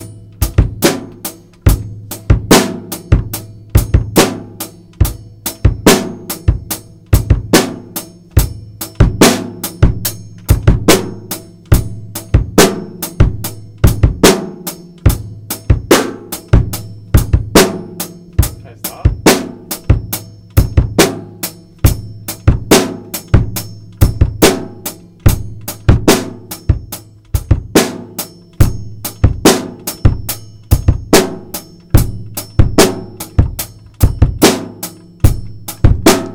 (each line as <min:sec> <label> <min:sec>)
0:00.0 drumming 0:36.3